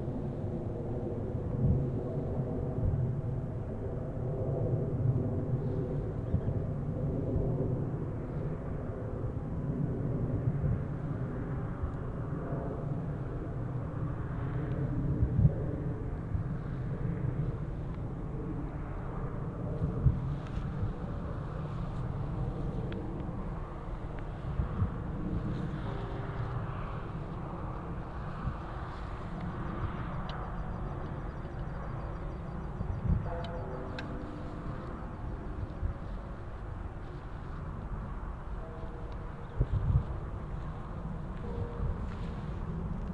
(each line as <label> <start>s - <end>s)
jet aircraft passes overhead 0.0s - 43.1s
car traffic 20.5s - 43.1s
trains 25.6s - 43.1s